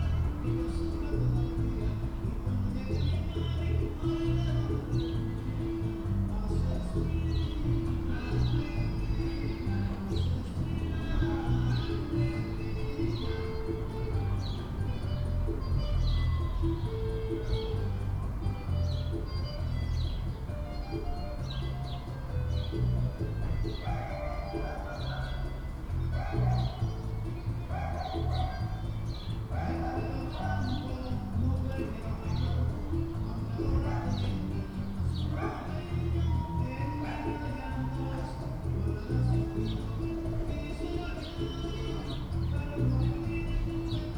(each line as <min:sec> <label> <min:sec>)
0:00.0 playing music down the street with a peculiar reverberation 0:44.1
0:23.6 hounds down the street barking 0:28.9
0:29.5 hounds down the street barking 0:31.2
0:33.6 hounds down the street barking 0:34.6
0:35.2 hounds down the street barking 0:39.8